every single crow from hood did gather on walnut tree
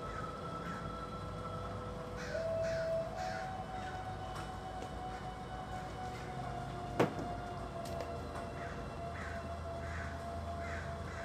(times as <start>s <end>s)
0.0s 1.0s, 2.2s 4.2s, 8.6s 11.2s